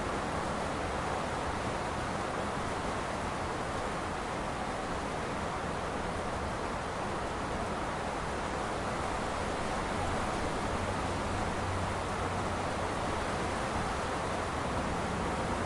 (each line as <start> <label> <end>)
0.0 Rain 15.6